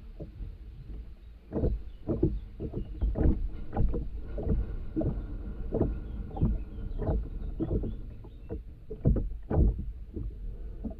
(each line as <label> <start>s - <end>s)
wind 0.0s - 10.9s
wooden boat being gently swayed by the water 0.0s - 10.9s